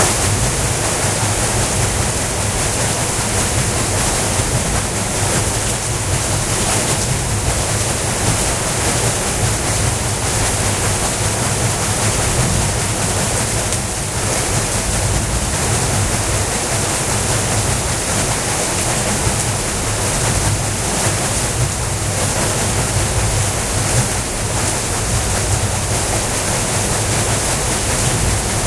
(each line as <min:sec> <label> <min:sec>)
0:00.0 water wheel sound 0:28.6